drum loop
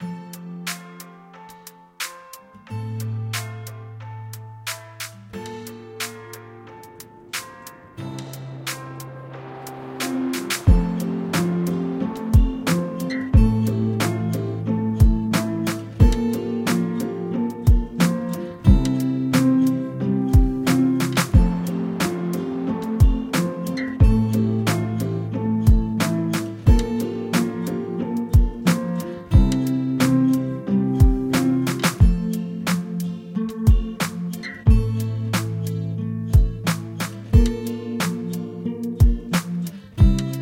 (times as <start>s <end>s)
6.0s 19.8s, 20.4s 30.4s, 31.0s 33.0s, 33.7s 35.7s, 36.4s 40.4s